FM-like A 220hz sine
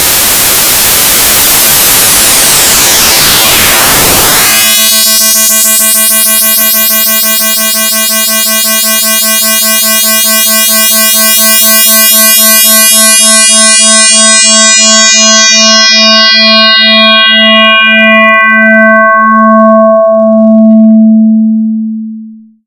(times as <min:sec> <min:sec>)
0:00.0 0:16.0